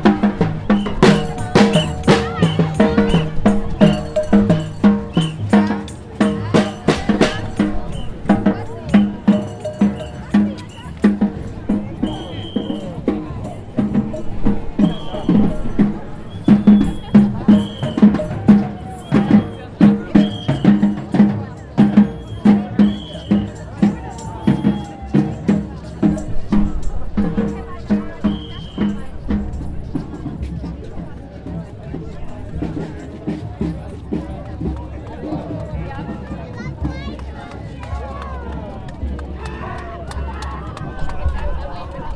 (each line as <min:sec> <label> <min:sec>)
0:00.0 Ghosts Parade 0:42.1